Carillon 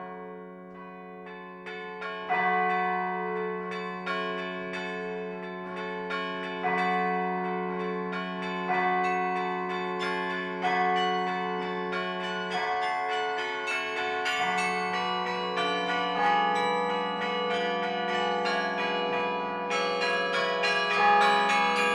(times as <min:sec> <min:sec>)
0:10.6 0:21.9